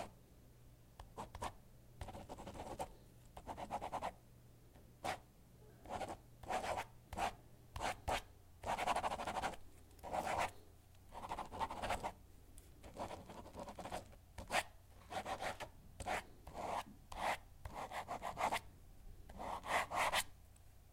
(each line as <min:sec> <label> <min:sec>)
0:01.0 Pen on paper 0:04.1
0:05.8 Pen on paper 0:10.5
0:11.1 Pen on paper 0:12.2
0:12.8 Pen on paper 0:18.6
0:19.3 Pen on paper 0:20.3